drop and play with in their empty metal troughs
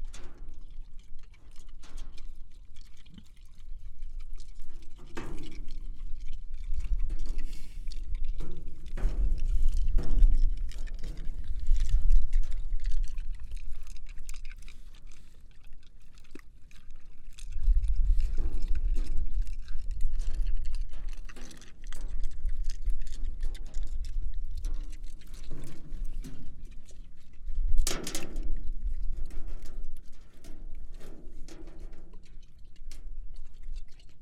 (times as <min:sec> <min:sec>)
0:04.8 0:13.3, 0:22.9 0:33.4